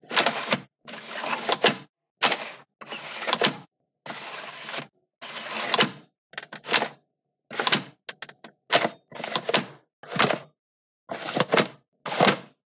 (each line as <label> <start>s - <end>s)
opening and closing playstation 3 disc tray 0.1s - 7.0s